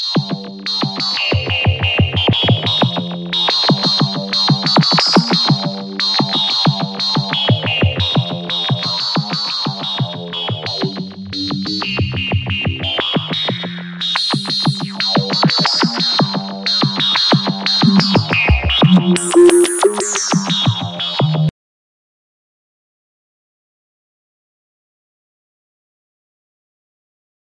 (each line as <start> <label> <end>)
0.1 bass 21.5